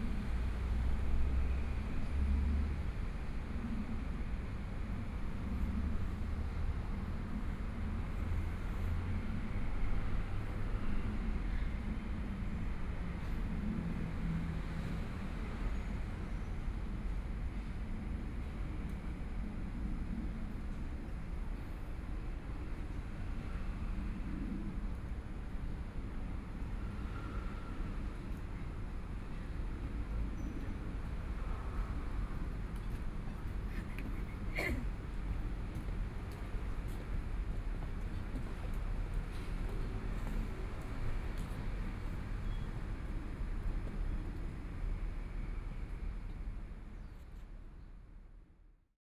MRT trains through 0:00.0 - 0:48.3

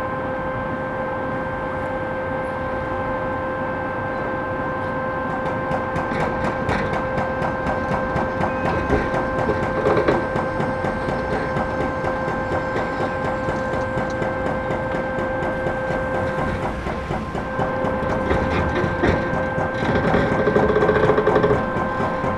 noise of different excavators 0:00.0 - 0:22.3
crane with grapple demolishes the building 0:05.0 - 0:22.3
excavator with mounted jackhammer demolishes building elements 0:05.4 - 0:22.3

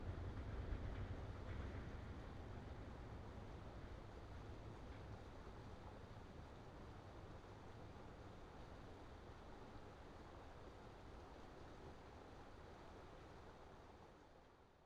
Trains on Red Bridge 0:00.0 - 0:08.0
freight trains 0:00.0 - 0:14.0
Passenger train 0:00.0 - 0:14.4

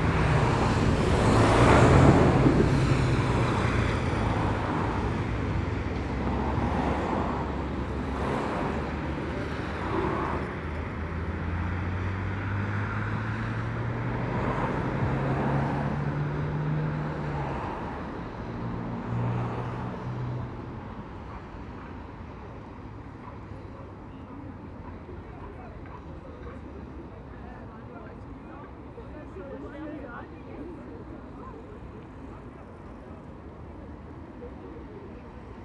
Dense morning traffic 0:00.0 - 0:35.6

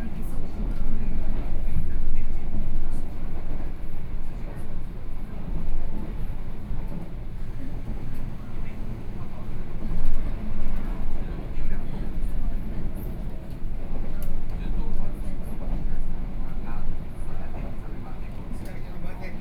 Local Express 0:07.4 - 0:10.0

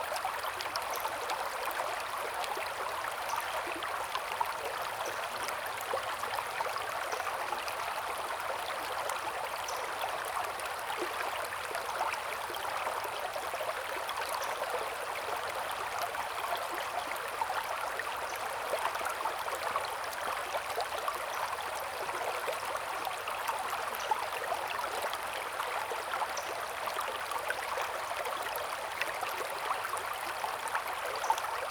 Stream 0:00.0 - 0:31.7

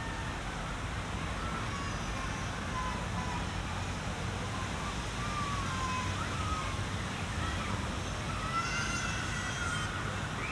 child crying 0:08.3 - 0:10.0

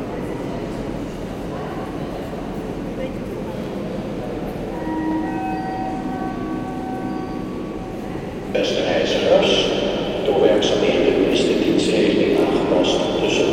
announcement about a train 0:04.6 - 0:13.5

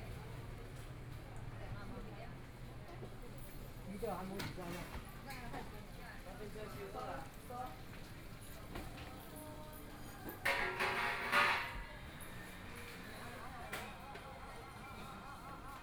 Walking through the market 0:00.0 - 0:15.8
Pedestrians on the road 0:12.0 - 0:14.2

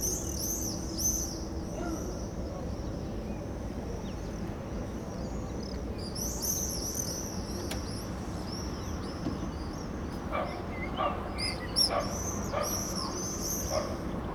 birds 0:05.6 - 0:14.3

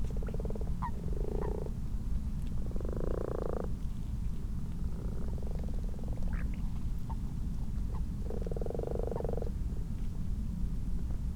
common toads 0:00.0 - 0:01.8
common frogs 0:00.0 - 0:04.0
common toads 0:02.6 - 0:03.8
common frogs 0:04.8 - 0:09.7
common toads 0:04.8 - 0:07.2
common toads 0:07.9 - 0:09.6

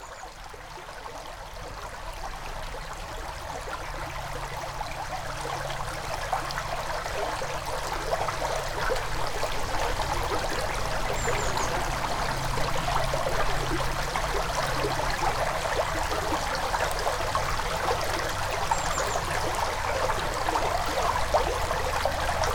river, flowing quietly 0:00.0 - 0:22.5

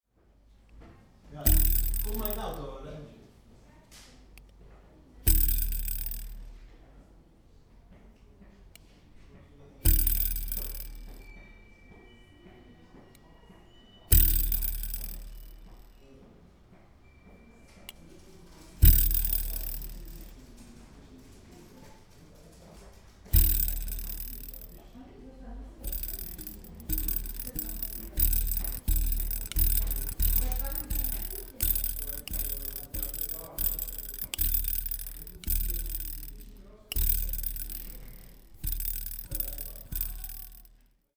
little tea nipper, great bass 0:01.4 - 0:02.7
little tea nipper, great bass 0:05.3 - 0:06.7
little tea nipper, great bass 0:09.9 - 0:11.2
little tea nipper, great bass 0:14.1 - 0:15.8
little tea nipper, great bass 0:18.8 - 0:20.4
little tea nipper, great bass 0:23.4 - 0:24.9
little tea nipper, great bass 0:25.8 - 0:40.8

